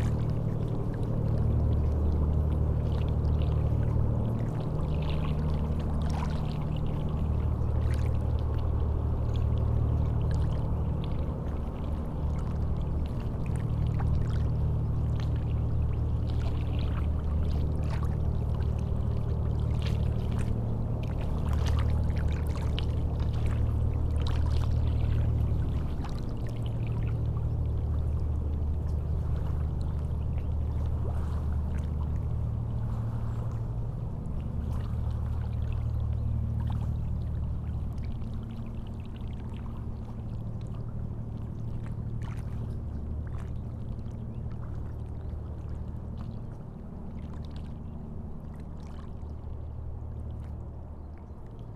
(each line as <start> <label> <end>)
0.0 very long double boat is passing by 51.7